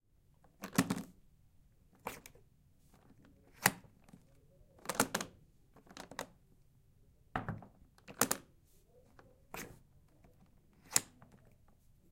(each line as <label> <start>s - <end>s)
briefcase latch being opened and closed 0.6s - 1.2s
briefcase latch being opened and closed 4.8s - 6.3s
briefcase latch being opened and closed 7.4s - 8.5s
briefcase latch being opened and closed 10.8s - 11.4s